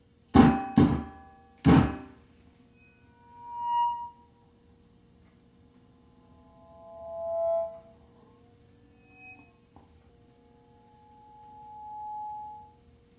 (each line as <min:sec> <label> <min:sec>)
0:02.0 PA microphone feedback 0:13.1